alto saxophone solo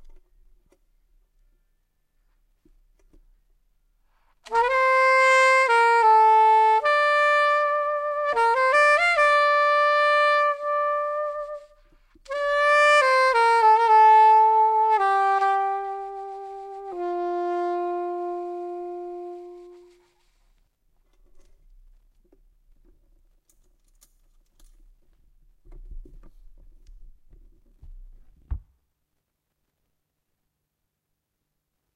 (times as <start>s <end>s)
4.4s 20.4s